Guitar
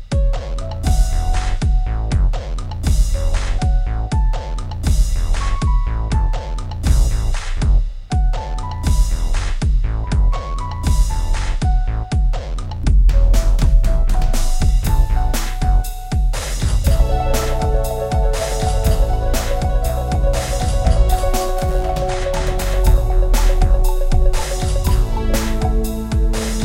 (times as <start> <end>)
16.9 26.6